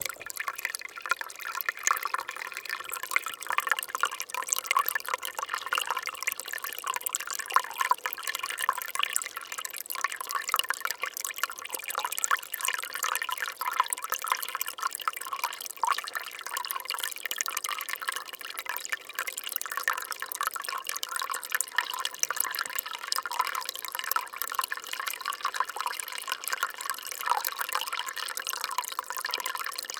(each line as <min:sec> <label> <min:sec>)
0:00.0 Low Marble Stream 0:06.6